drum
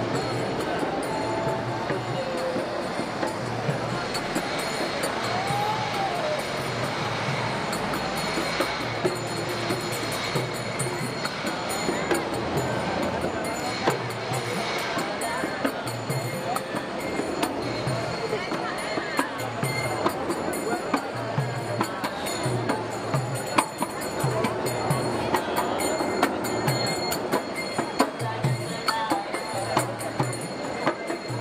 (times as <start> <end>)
0.0 14.6